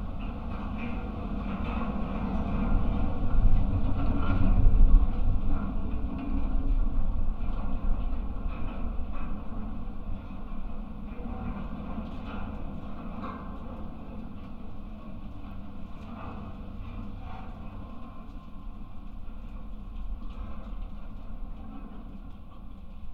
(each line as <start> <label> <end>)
0.0 railway light tower 23.1